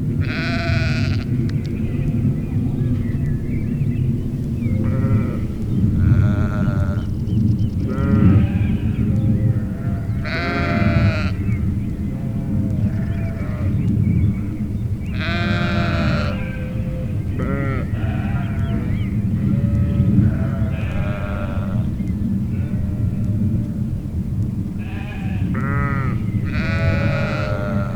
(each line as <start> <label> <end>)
7.8 grazing sheeps 13.9
15.1 grazing sheeps 23.8
24.8 grazing sheeps 27.9